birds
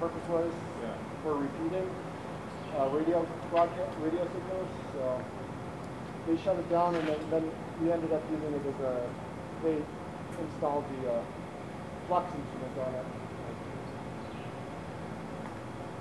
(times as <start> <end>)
13.7 15.7